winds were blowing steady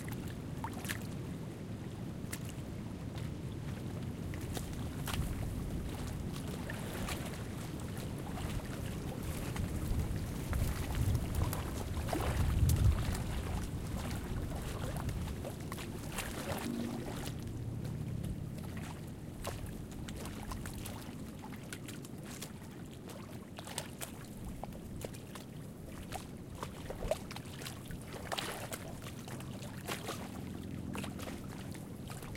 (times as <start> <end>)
0.0 21.4